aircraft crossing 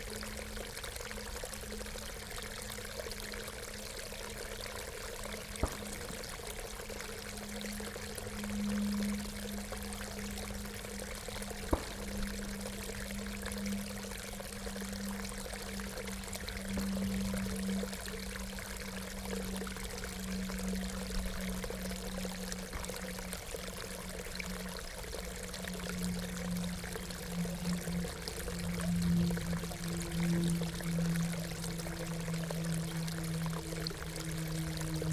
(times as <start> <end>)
10.2 14.7